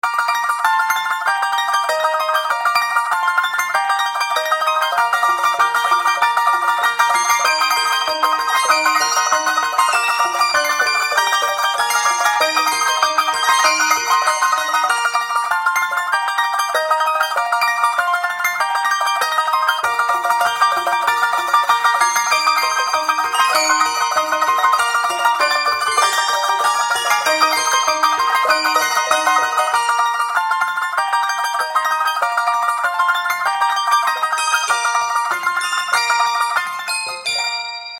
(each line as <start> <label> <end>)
19.1 fast ukulele 37.3